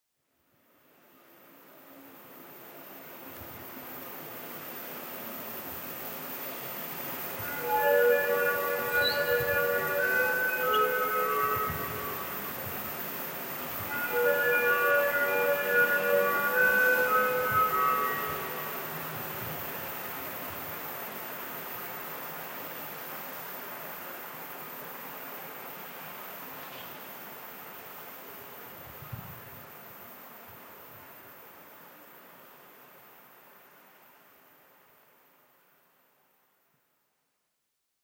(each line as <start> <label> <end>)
7.3 hemglass horn 20.1